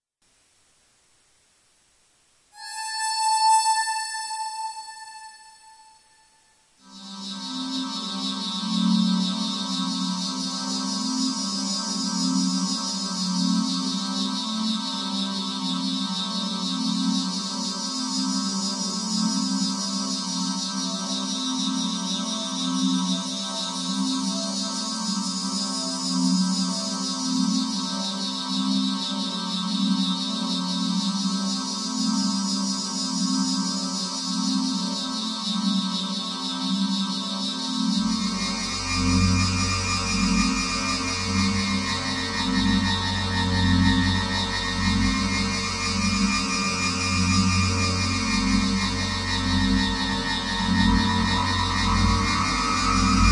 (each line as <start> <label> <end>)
38.0 synth 53.3